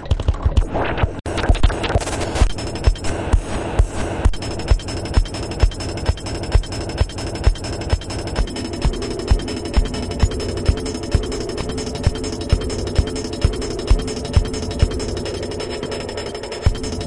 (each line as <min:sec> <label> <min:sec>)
0:00.0 drums 0:17.0
0:00.0 pad 0:17.0
0:00.6 synth 0:17.0